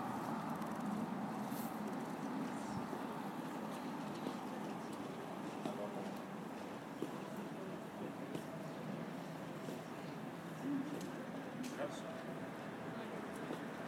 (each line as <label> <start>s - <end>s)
bicycles passing by 0.0s - 7.9s
cars at the corner 0.0s - 13.8s
people walking by 0.0s - 13.8s